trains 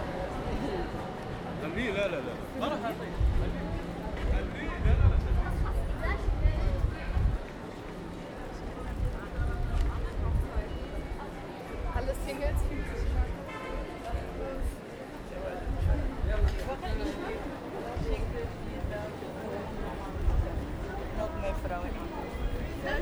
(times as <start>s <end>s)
0.0s 12.0s